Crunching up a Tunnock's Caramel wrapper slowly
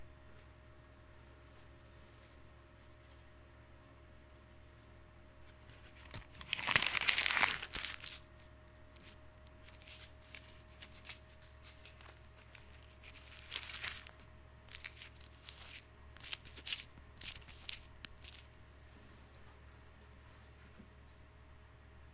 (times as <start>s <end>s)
5.5s 18.6s